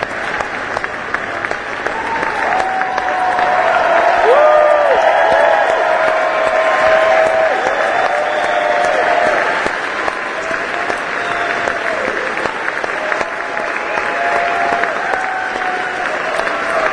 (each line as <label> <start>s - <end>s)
APPLAUSE-CURTAIN CALLS 0.0s - 16.9s